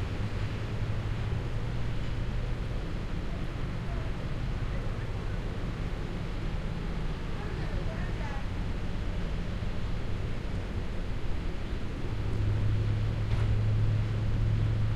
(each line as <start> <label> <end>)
0.0 traffic from a road 14.9